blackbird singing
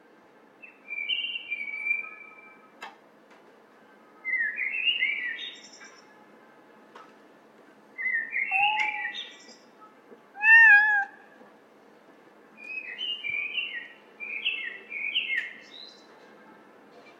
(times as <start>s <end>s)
0.6s 2.6s, 4.3s 6.1s, 8.0s 9.7s, 12.6s 16.1s